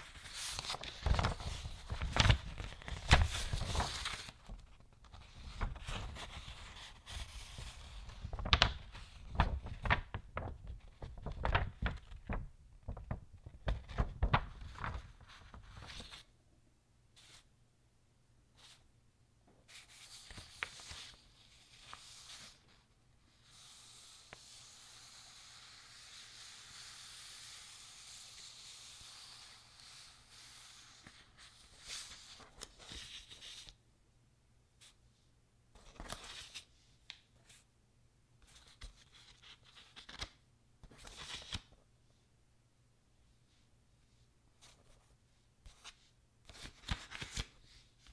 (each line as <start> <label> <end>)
0.0 Paper being touched 10.0
0.0 Pages Turning 16.3
17.2 Paper being touched 17.5
19.7 Pages Turning 22.6
19.7 Paper being touched 22.7
23.4 Paper being touched 33.7
35.8 Pages Turning 36.7
38.5 Pages Turning 41.8
45.6 Pages Turning 48.1